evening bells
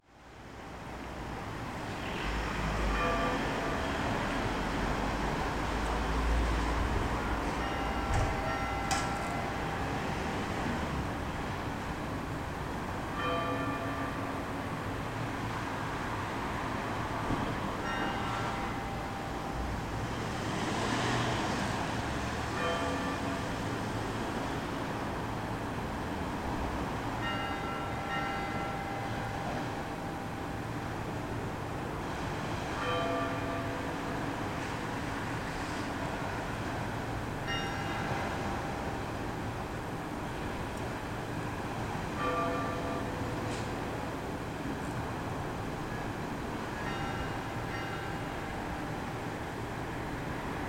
2.9 4.7, 7.3 10.5, 13.2 14.8, 17.8 20.0, 22.6 23.8, 27.2 31.0, 37.4 39.0, 42.2 43.6, 46.8 49.4

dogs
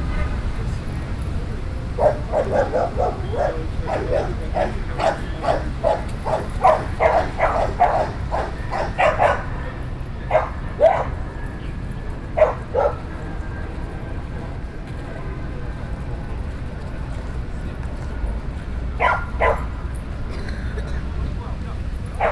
1.8 13.5, 18.9 20.1

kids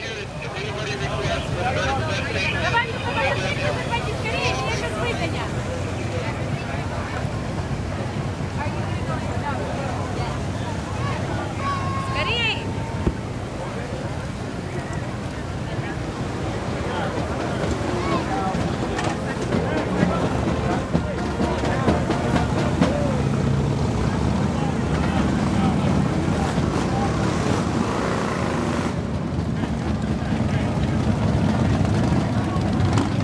10.0 15.7

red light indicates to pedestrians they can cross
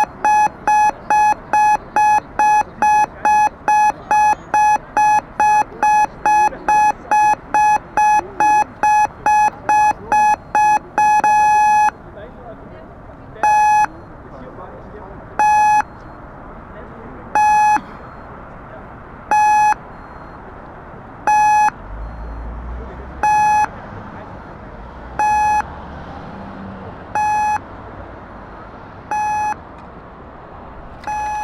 0.0 12.0

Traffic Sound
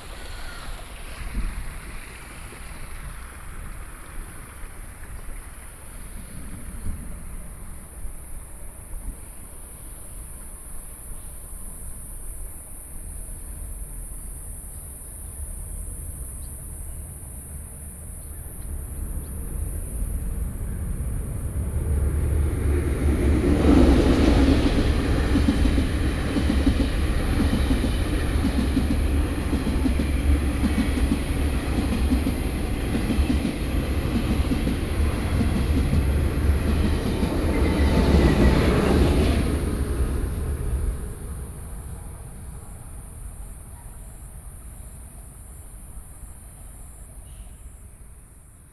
16.2 48.7

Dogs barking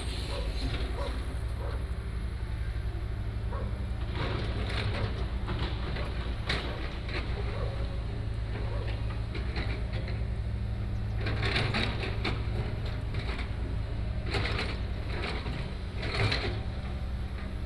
0.2 1.9, 3.5 3.9, 5.9 9.2

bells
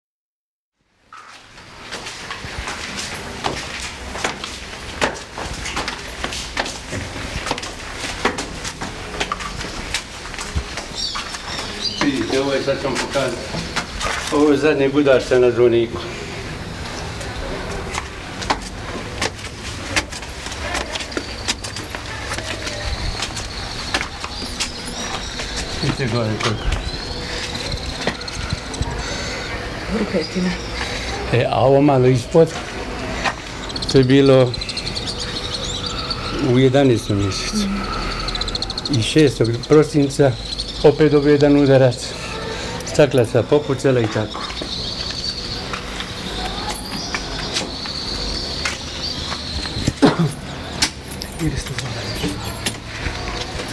20.5 53.7

